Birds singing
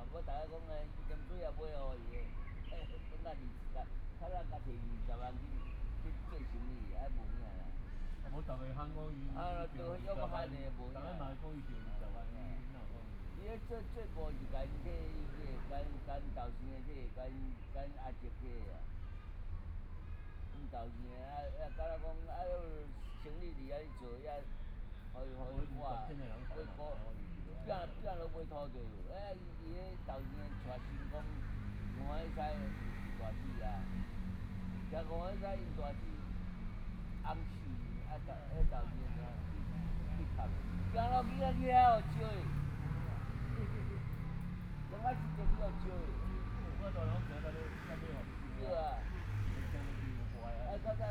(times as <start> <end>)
0.5 7.1